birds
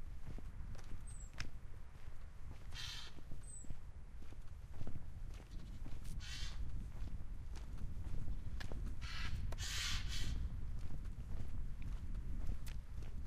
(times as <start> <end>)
1.0 1.4, 2.7 3.8